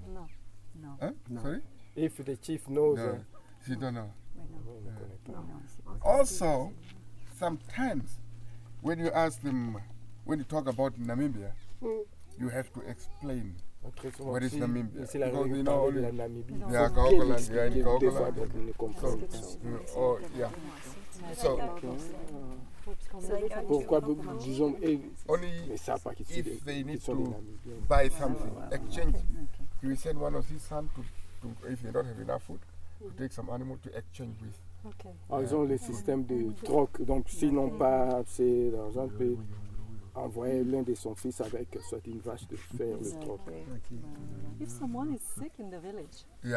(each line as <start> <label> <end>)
0.1 guide translates for us chief's questions 46.5
11.7 greeting her 29.6